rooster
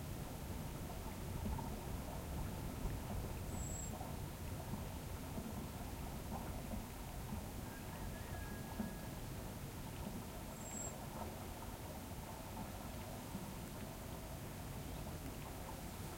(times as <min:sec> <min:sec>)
0:07.6 0:09.3